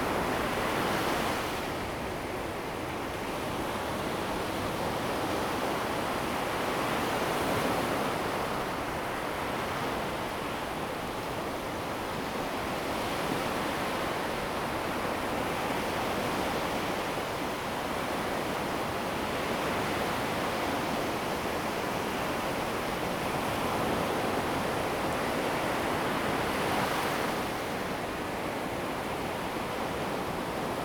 4.0s waves 30.8s

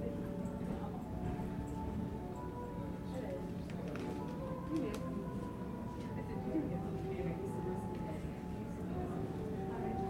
0.0s shuttle subway train 10.0s

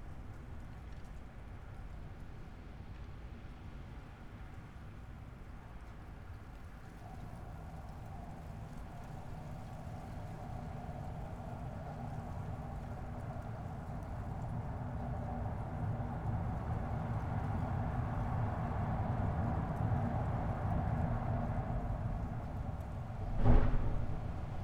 22.0s street ambience 24.6s

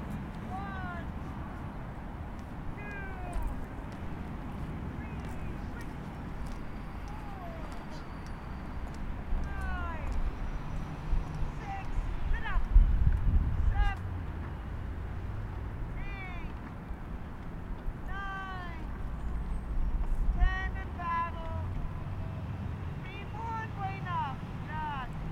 0.0s rowing crew practicing on the water 25.3s

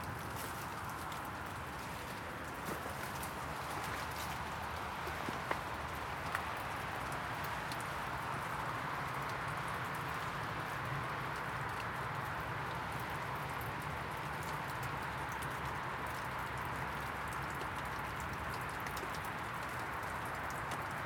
0.0s dripping 21.0s
1.7s Walking through snow 5.5s

